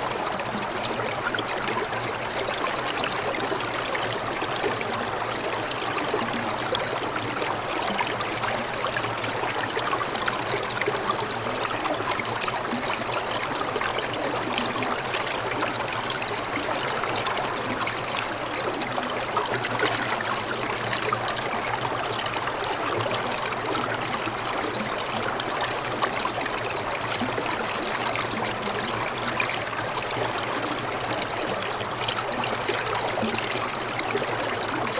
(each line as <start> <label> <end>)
0.0 mountain brook covered mostly with ice 34.9